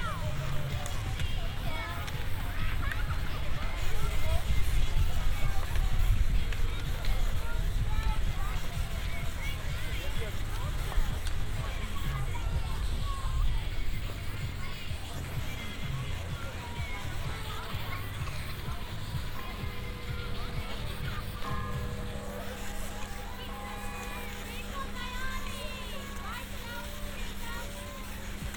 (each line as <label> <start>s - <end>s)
music 0.0s - 28.5s
several moving carpet elevators 0.0s - 28.5s
wind disturbances 0.0s - 28.5s